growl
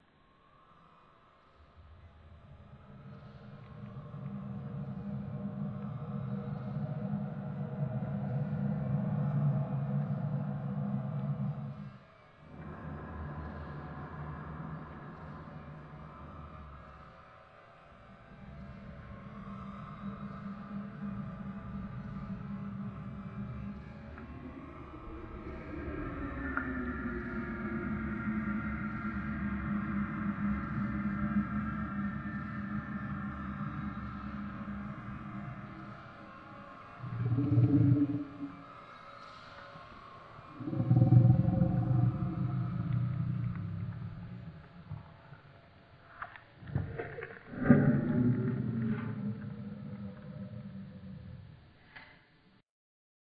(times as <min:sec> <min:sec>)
0:37.0 0:38.6, 0:40.6 0:45.2, 0:46.6 0:51.6